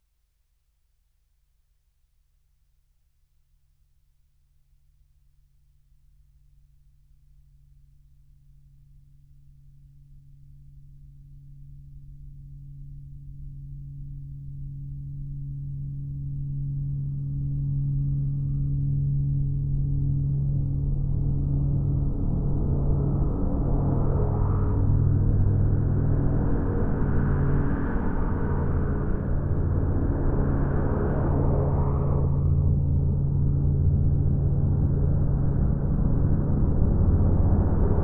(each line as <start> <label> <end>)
12.3 Low hum growing into bass rumble 38.0